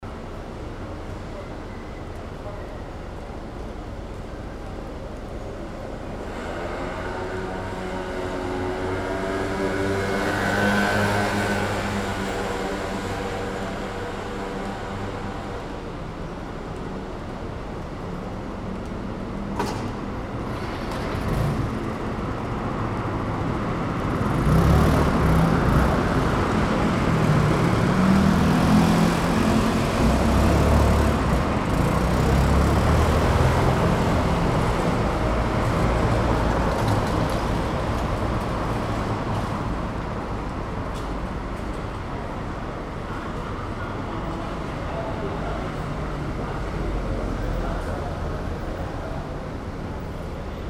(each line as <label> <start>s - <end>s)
traffic 0.0s - 50.6s